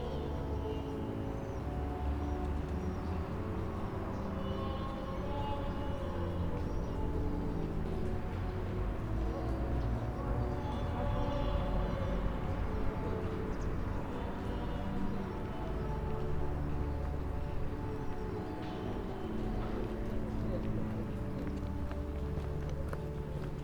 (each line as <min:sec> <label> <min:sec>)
0:00.0 people are walking home and chatting 0:23.6